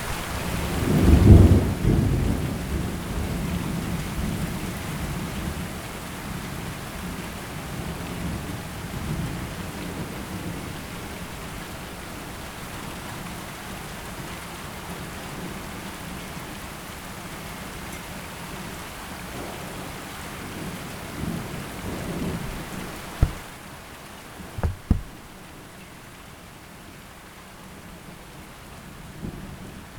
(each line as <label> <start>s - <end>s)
rain 0.0s - 22.6s
rain 25.9s - 29.9s